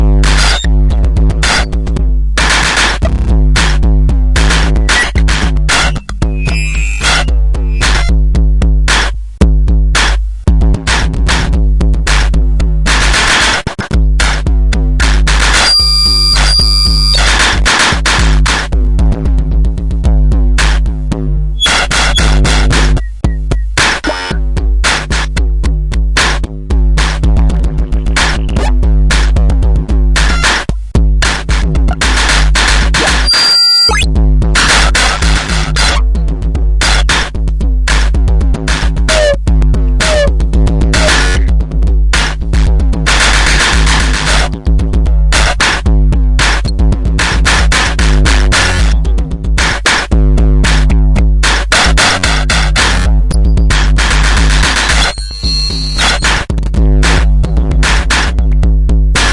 cut up drum sequence 0.0 - 59.3
squeaky filters 5.8 - 8.1
squeaky filters 21.6 - 22.4
squeaky filters 33.2 - 34.0
squeaky filters 39.1 - 39.4
squeaky filters 40.0 - 40.3
squeaky filters 54.9 - 56.3

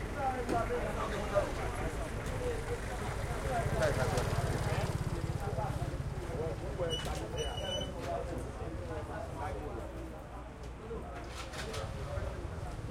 light crowd 0.0 - 12.9
motorcycles pass 2.7 - 6.7

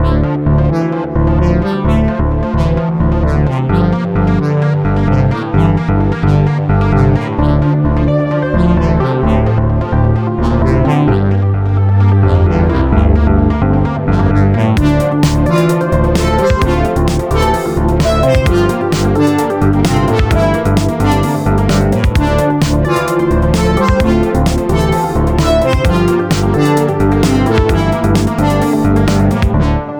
synth 0.0 - 29.9
drums 14.8 - 29.6

